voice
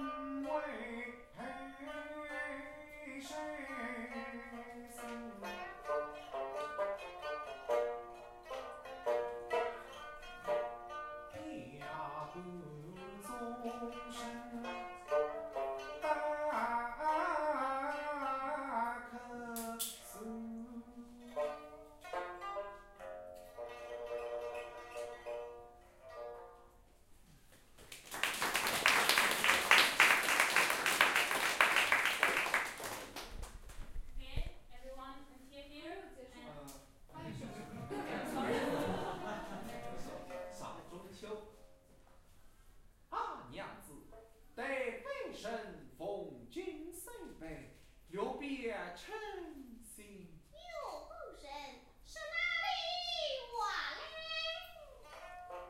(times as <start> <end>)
34.2 41.5, 43.1 55.3